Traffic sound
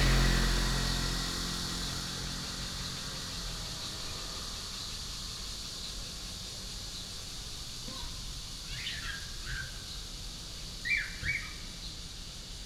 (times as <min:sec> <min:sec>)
0:00.0 0:07.7